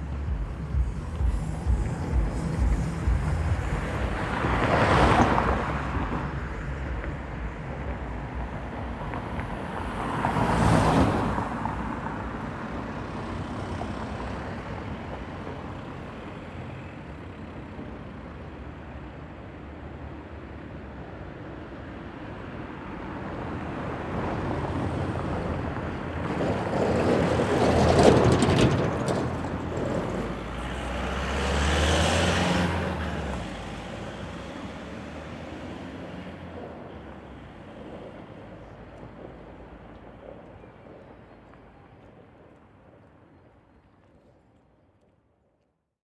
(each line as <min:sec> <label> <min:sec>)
0:00.0 cars passing on a cracked road 0:45.8